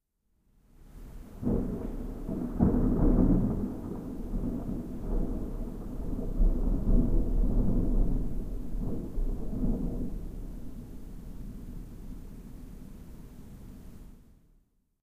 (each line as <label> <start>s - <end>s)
rain 0.7s - 14.2s
thunder 1.1s - 13.0s